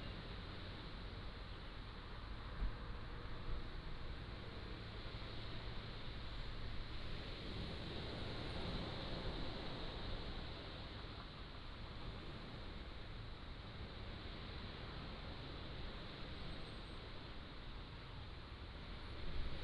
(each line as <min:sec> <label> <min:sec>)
0:00.0 waves 0:19.6